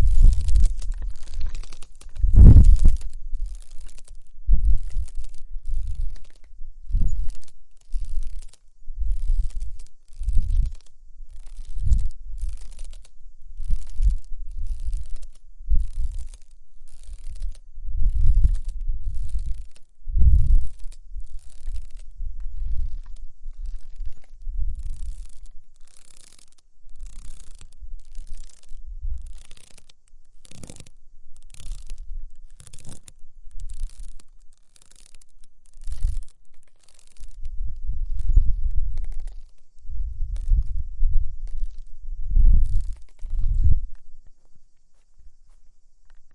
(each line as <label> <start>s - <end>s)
ropes of a traditional swing moving on it 0.0s - 46.3s
wind 0.0s - 46.3s